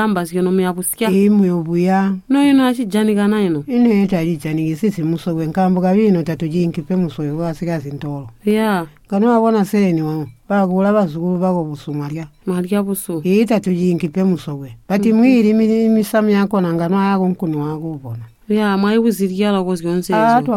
grandmother lists some of the bush fruits 0:00.0 - 0:20.5
asks her grandmother 0:19.8 - 0:20.5

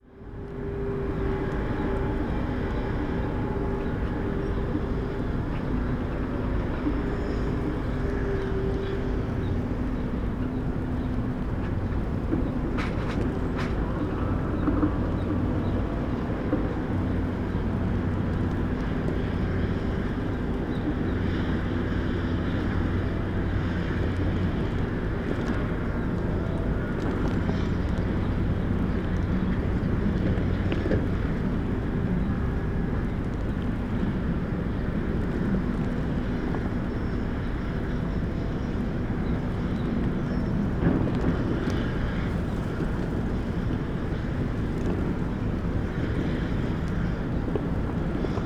windblown tarp 0:00.0 - 0:48.4
bulldozers 0:00.1 - 0:48.4
different excavators 0:39.6 - 0:48.4

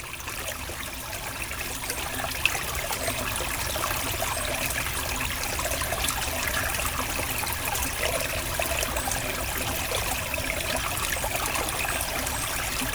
small stream flowing behind the houses 0:00.0 - 0:12.9

